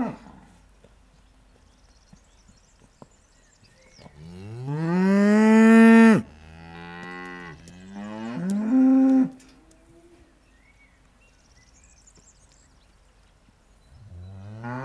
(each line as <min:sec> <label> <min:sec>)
0:00.0 Hungry cows 0:13.9